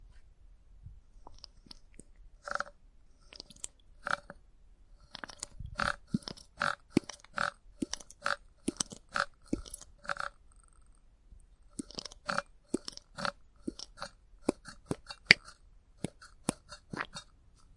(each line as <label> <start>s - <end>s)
Hand pump oil can squirt 5.1s - 10.3s
Hand pump oil can squirt 11.8s - 17.7s